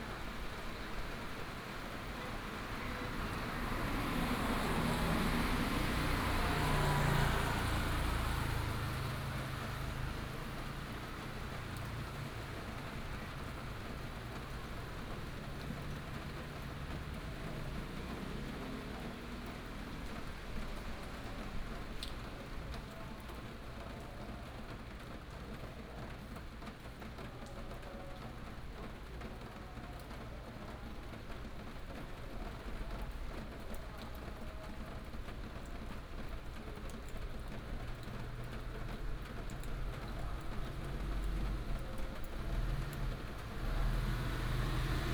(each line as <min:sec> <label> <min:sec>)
0:00.0 traffic sound 0:23.4
0:00.0 rain 0:45.1
0:31.3 traffic sound 0:45.1